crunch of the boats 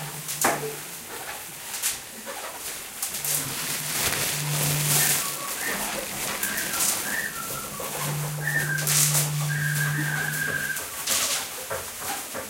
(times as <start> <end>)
3.1 10.8